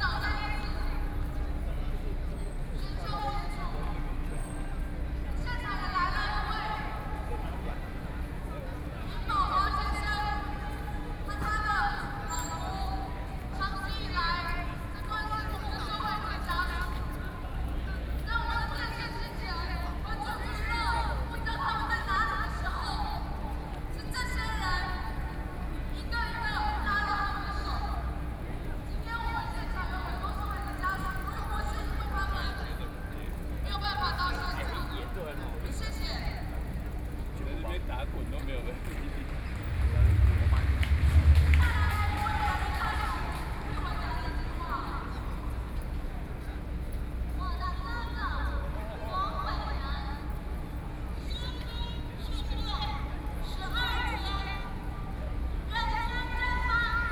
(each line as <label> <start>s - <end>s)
very busy road traffic 0.0s - 57.1s
Protest against the government 38.8s - 45.6s